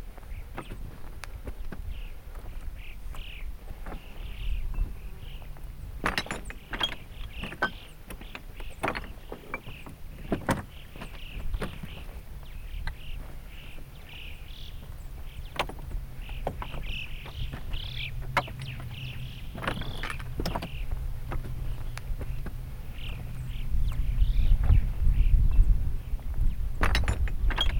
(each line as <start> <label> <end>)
0.0 fair breeze 27.7
0.0 rock rivers, sounding like crockery 27.7
3.1 Rock Pippits 24.0